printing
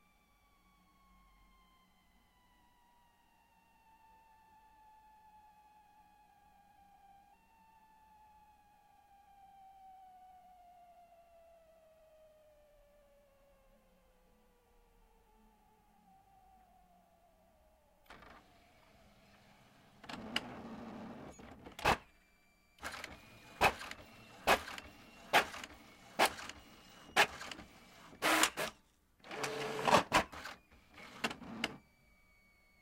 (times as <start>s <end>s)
19.4s 22.0s, 22.8s 31.8s